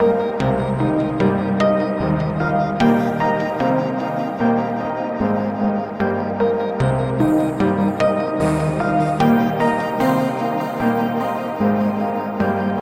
0.0s modular synth system 12.8s

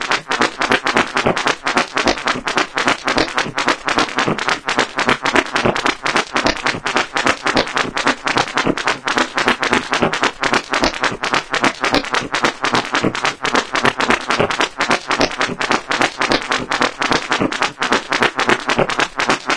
0.0s weird beat 19.5s

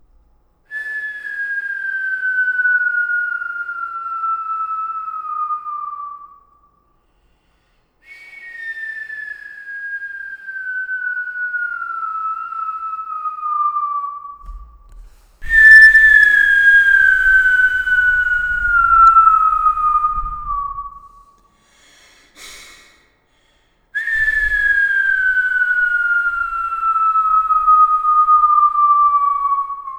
8.2s Skyrockets whistling with reverb 21.4s
24.0s Skyrockets whistling with reverb 29.9s

